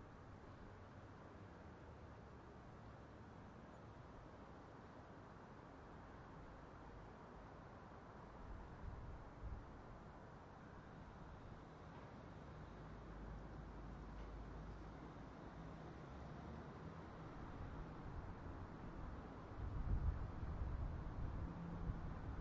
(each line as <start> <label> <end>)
0.0 traffic at street crossing 22.4
17.2 little Wind noise 22.4